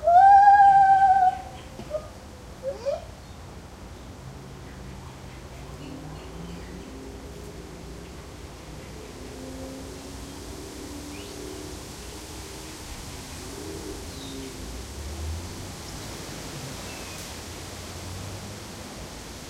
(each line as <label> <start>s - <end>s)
traffic 0.0s - 19.4s
wind 0.0s - 19.4s
birds in the background 0.5s - 15.2s
birds in the background 15.8s - 17.4s